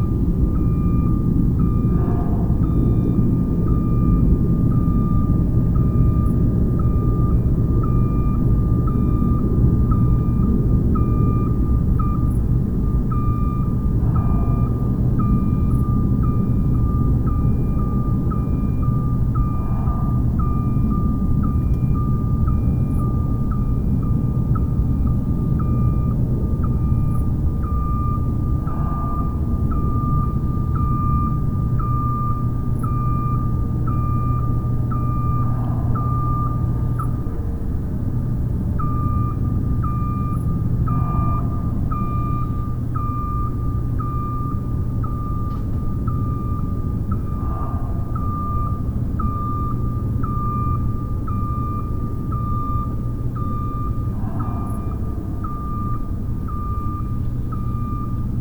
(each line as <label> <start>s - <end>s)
alarms 0.0s - 58.4s
traffic 0.0s - 58.4s
trucks 0.0s - 58.4s
wind 0.0s - 58.4s
voices 13.2s - 16.0s
voices 18.3s - 21.9s
voices 26.9s - 32.3s
voices 33.9s - 39.1s
voices 39.9s - 43.8s
voices 46.4s - 50.3s
dogs 47.1s - 48.8s
voices 52.3s - 57.0s
dogs 53.6s - 56.0s